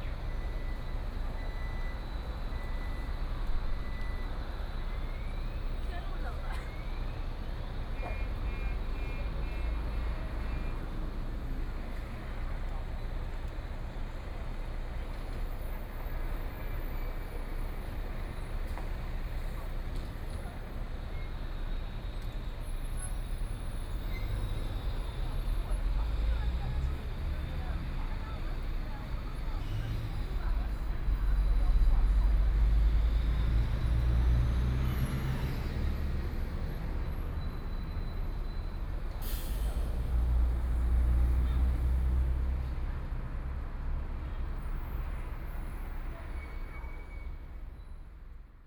0.0s Traffic Sound 48.6s
36.9s Various brake sounds 42.4s

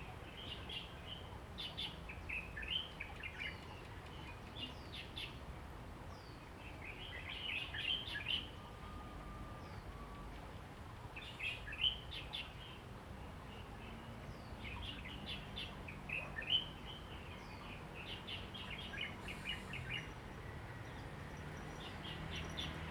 13.0s Traffic Sound 22.9s

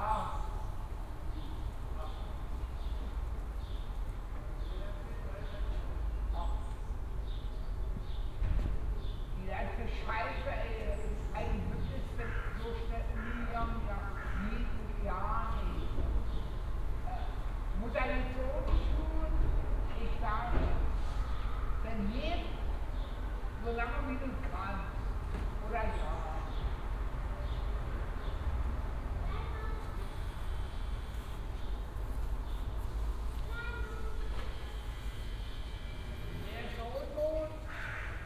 28.9s family who are packing their car 37.7s

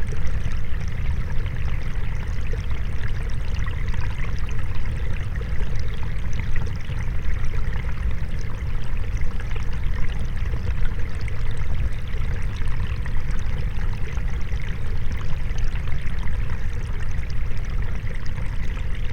0.0s springlet underwater 19.1s

